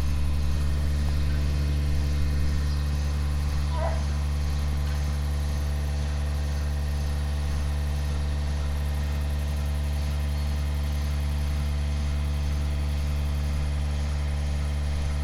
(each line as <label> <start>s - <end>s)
cow shed drone 0.0s - 15.2s